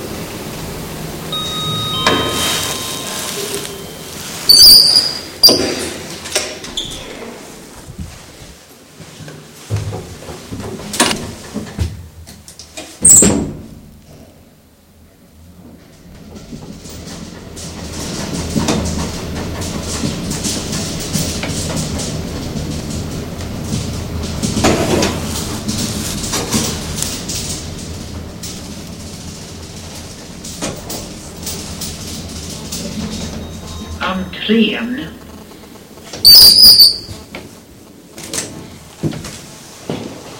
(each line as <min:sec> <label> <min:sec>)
0:00.0 Elevator-ride 0:40.3
0:01.3 ding dong synthetic bell 0:04.5
0:01.4 keys 0:05.2
0:03.8 squeeky door 0:06.0
0:06.7 squeeky door 0:07.2
0:13.0 squeeky door 0:13.4
0:33.0 muffed announcement from the speaker-voice 0:35.3
0:36.2 squeeky door 0:37.3